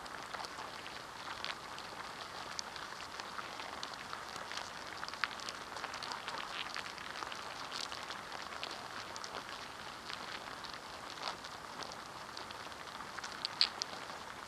Inside an ants nest 0:00.0 - 0:14.4

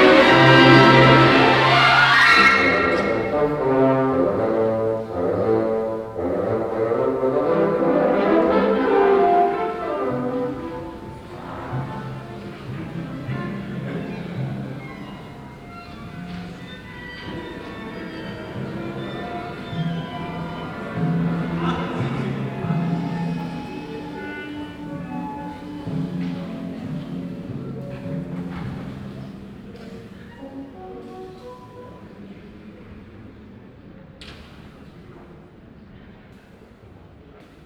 rehearsal of the symphonic orchestra 0:00.0 - 0:37.6

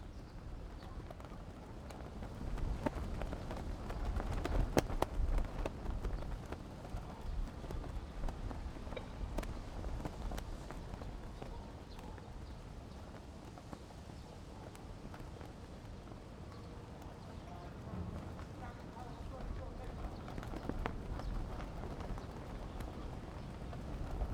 Wind and Banner 0:17.6 - 0:23.2

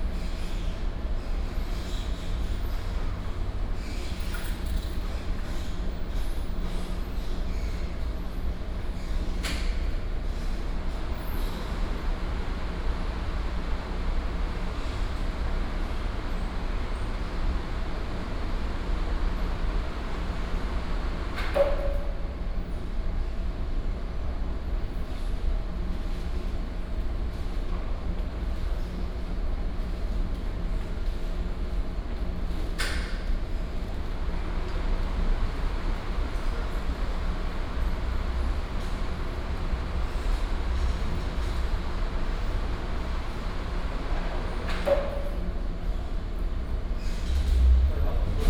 air conditioning 0:00.0 - 0:48.4
Traffic sound 0:46.5 - 0:48.4

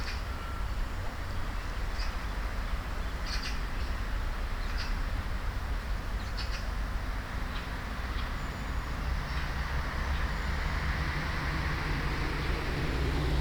distant traffic 0:06.4 - 0:13.4

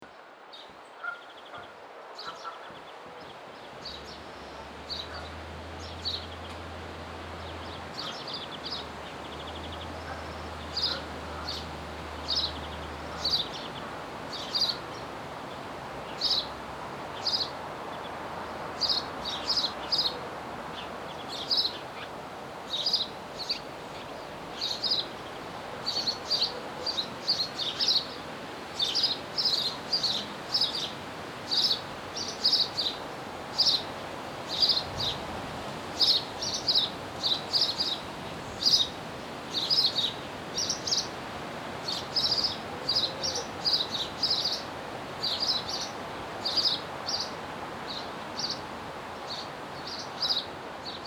birds at and around the nearby pond 0:00.0 - 0:51.0

